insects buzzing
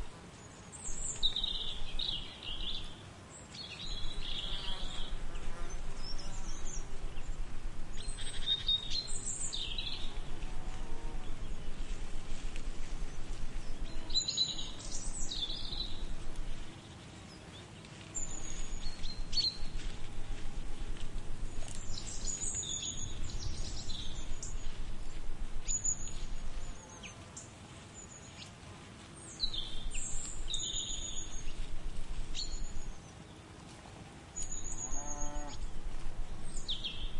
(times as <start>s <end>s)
34.4s 37.1s